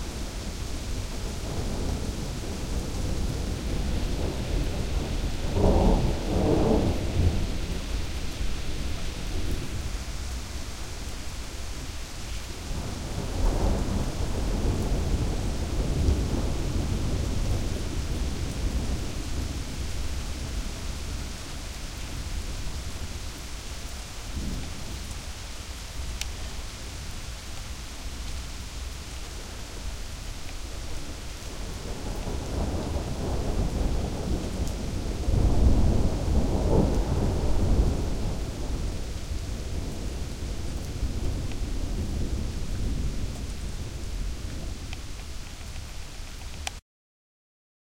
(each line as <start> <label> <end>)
0.0 rain 46.8
0.0 thunder 9.9
12.6 thunder 23.0
31.0 thunder 45.2